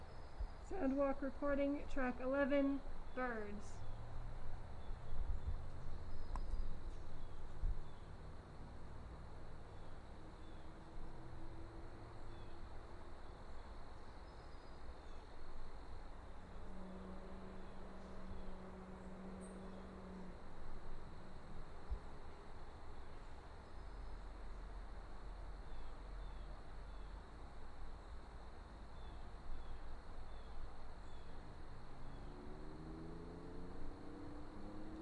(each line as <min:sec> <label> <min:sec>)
0:00.0 Birds chirping from trees 0:11.2
0:11.9 Birds chirping from trees 0:16.6